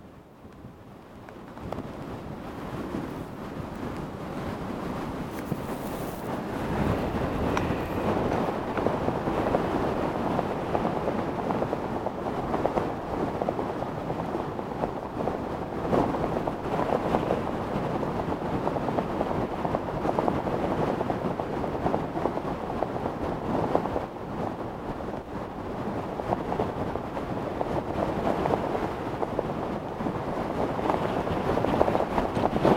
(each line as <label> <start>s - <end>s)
my jacket is riven 5.3s - 8.4s
most powerful wind I ever knew 6.3s - 16.6s